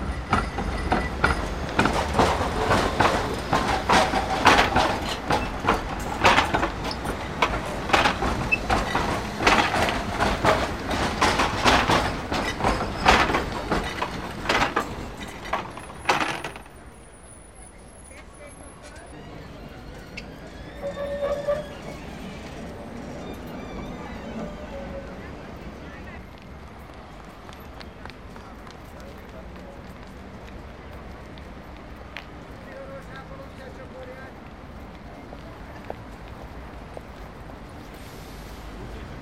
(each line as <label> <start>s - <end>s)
heavy car traffic 0.0s - 39.2s
trams 0.0s - 39.2s
footsteps 0.2s - 16.7s